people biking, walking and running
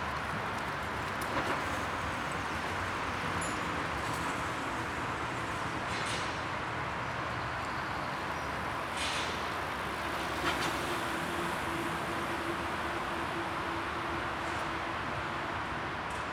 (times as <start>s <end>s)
0.0s 11.6s